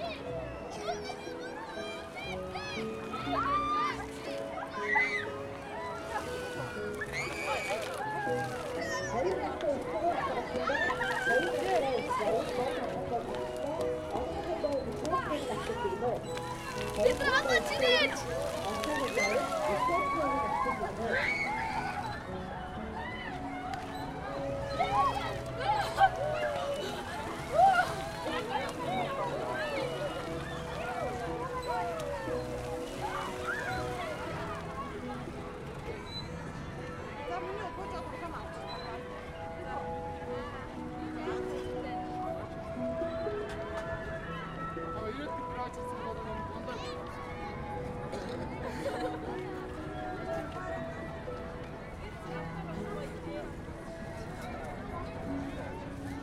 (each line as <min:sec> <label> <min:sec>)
0:00.0 music and anouncements of the park out of loudspeakers 0:56.2
0:00.0 play grounds 0:56.2
0:00.0 water games 0:56.2